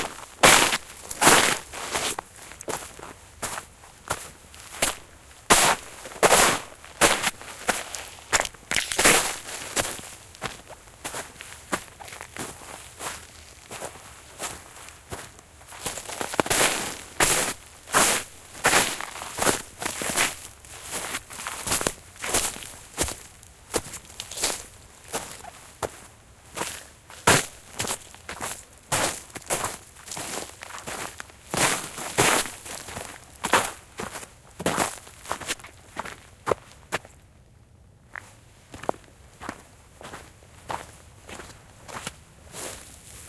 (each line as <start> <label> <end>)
0.0 Footsteps, walking in the forest in the winter, ice and snow 43.2